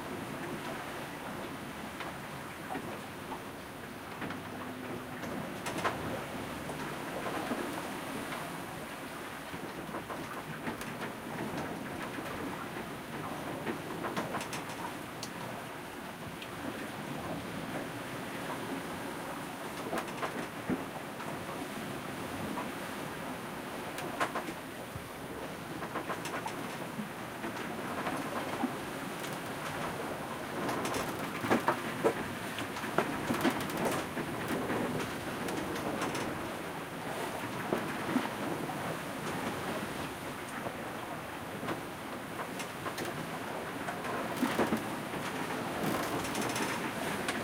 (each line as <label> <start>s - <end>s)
waves 0.0s - 47.4s
creaking 44.4s - 46.9s